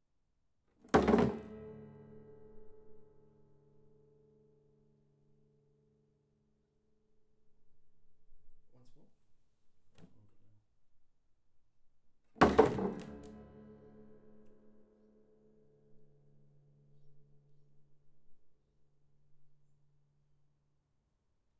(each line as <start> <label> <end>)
0.9 dropping a acoustic guitar on concrete 1.7
12.4 dropping a acoustic guitar on concrete 13.5